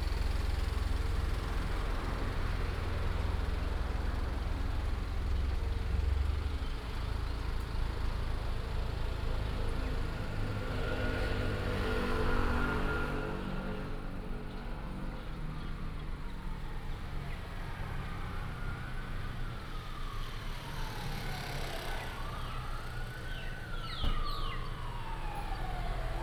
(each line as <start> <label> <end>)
0.0 Fire engines pass 26.2
0.0 Traffic sound 26.2
23.3 birds 24.8